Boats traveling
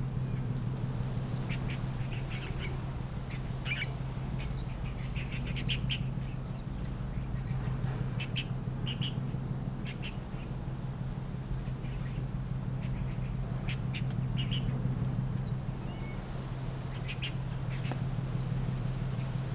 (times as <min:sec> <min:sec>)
0:12.2 0:19.5